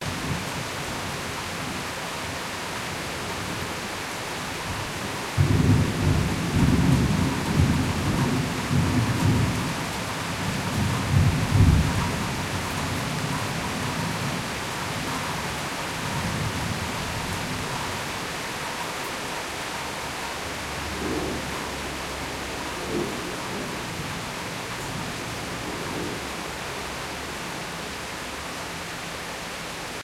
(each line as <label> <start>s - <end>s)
Heavy rain 0.0s - 30.0s
thunder 5.4s - 9.8s
thunder 10.6s - 12.5s
thunder 20.8s - 24.2s